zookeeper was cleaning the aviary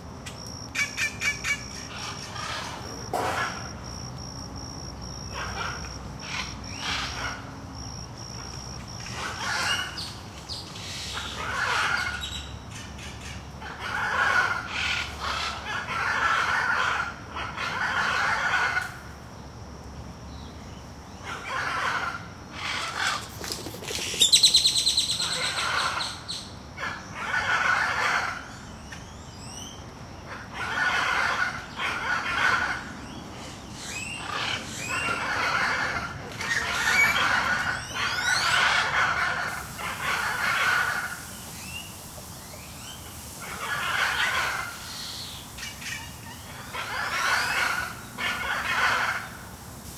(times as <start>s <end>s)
21.4s 26.4s, 34.2s 49.9s